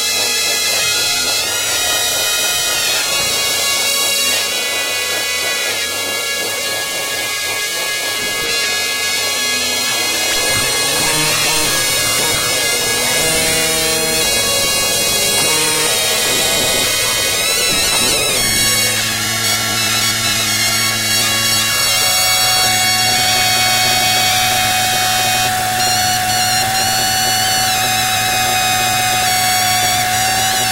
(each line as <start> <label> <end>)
0.1 zurna samples 30.7
0.6 synth noises 25.9